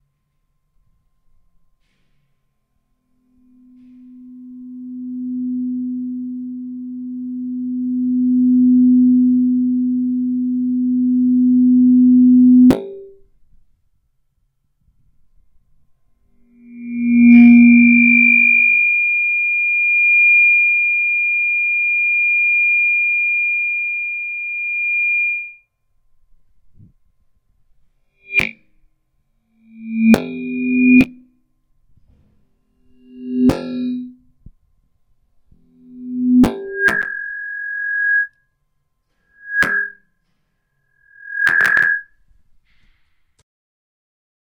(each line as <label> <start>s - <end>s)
Microphone feedback 3.4s - 13.3s
Microphone feedback 16.5s - 25.6s
Microphone feedback 28.2s - 28.6s
Microphone feedback 29.7s - 31.2s
Microphone feedback 32.9s - 34.1s
Microphone feedback 35.8s - 38.3s
Microphone feedback 39.4s - 40.0s
Microphone feedback 41.0s - 42.2s